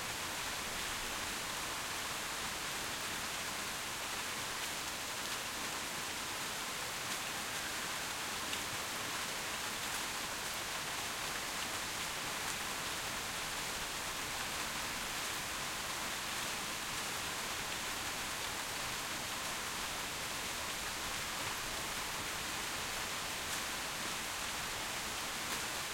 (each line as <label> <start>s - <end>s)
Rain on tin roof 0.0s - 25.9s